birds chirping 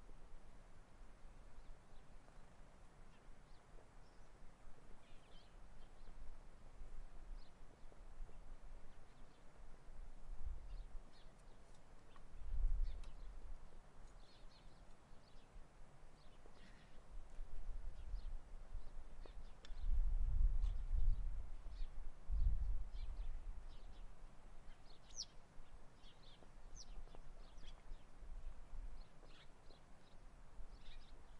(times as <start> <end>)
24.7 28.1, 29.0 31.3